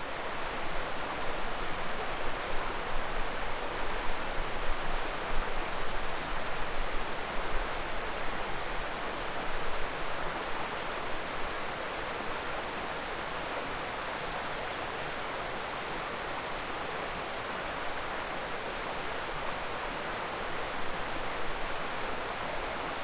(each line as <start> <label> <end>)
0.8 birdsong 2.9